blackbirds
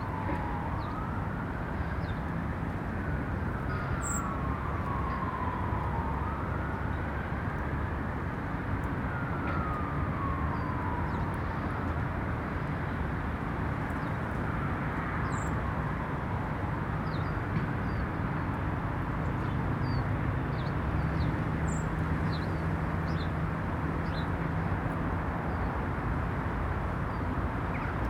3.7s 4.4s, 27.1s 28.0s

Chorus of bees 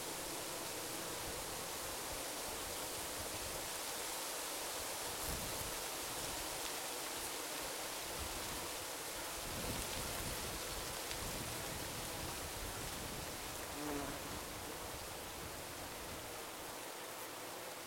0.0s 5.2s, 10.6s 17.8s

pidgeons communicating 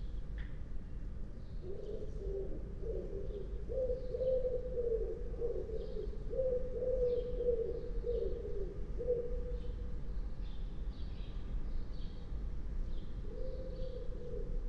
1.6s 10.0s, 13.2s 14.6s

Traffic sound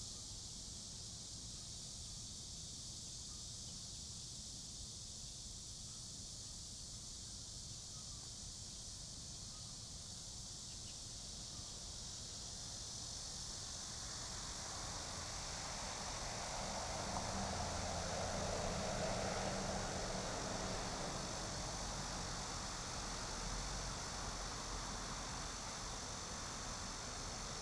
14.3s 27.6s

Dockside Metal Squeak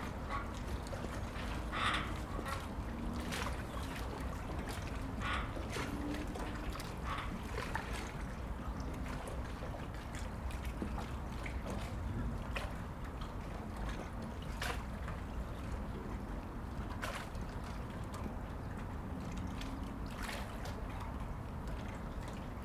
0.0s 7.4s

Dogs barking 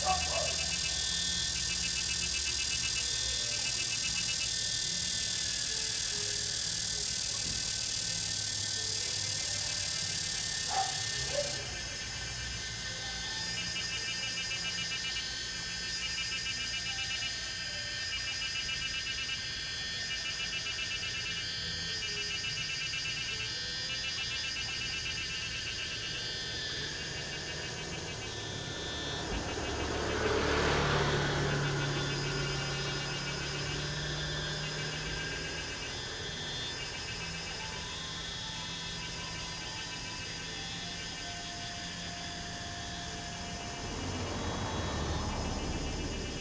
0.0s 1.2s, 10.4s 12.0s

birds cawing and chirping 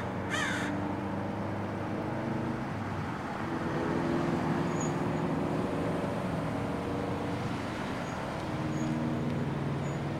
0.0s 0.8s

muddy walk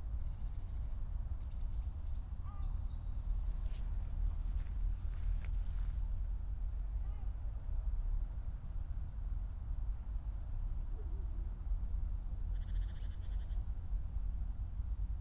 3.6s 6.2s

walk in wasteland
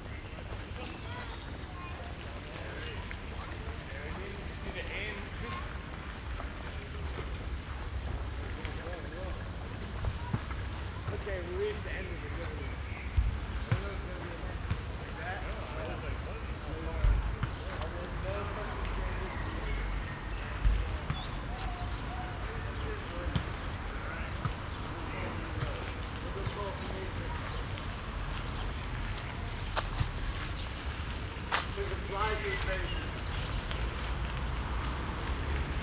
25.8s 35.8s

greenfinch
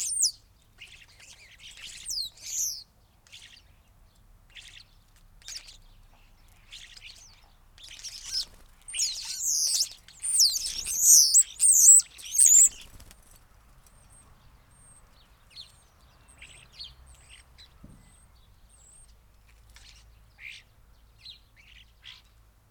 0.0s 3.7s, 4.5s 13.2s

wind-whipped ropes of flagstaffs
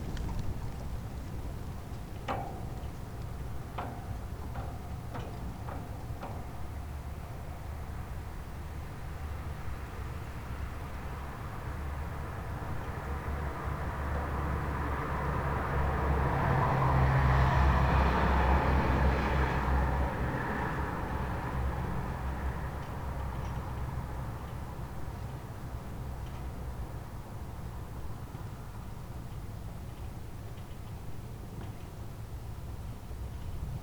0.0s 6.8s

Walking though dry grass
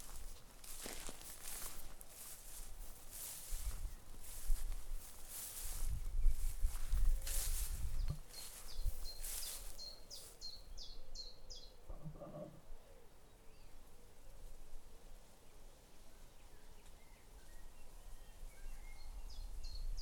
0.0s 11.0s

